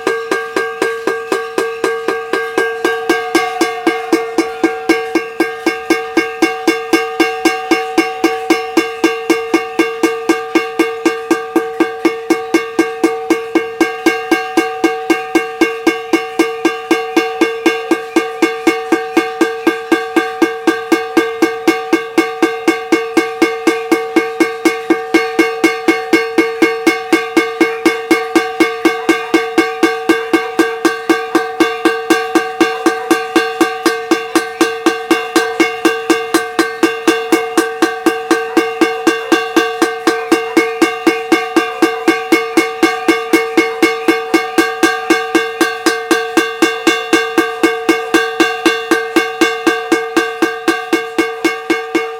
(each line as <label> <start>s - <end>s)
Cacerolazo 0.0s - 52.1s